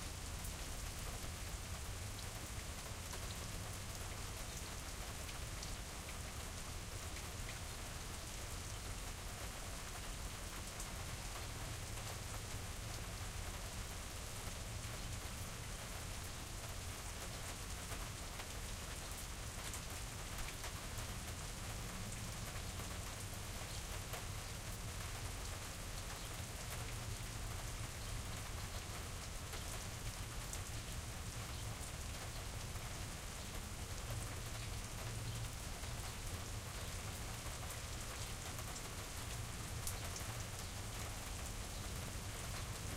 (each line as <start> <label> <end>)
0.0 Rain on a Country Porch 42.9